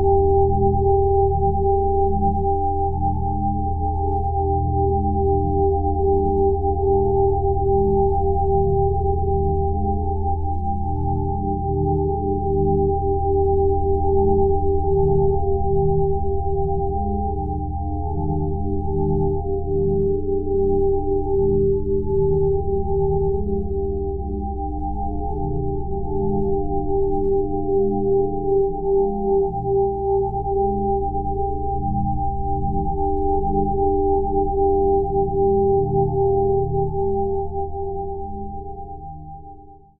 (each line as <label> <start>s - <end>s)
pure ambient sine wave 0.0s - 39.9s